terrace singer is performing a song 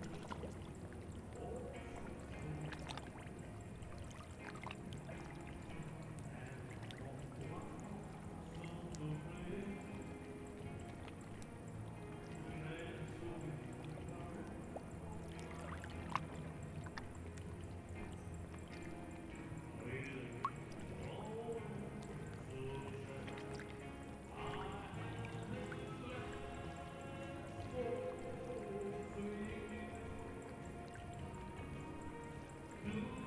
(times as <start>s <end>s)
19.4s 33.2s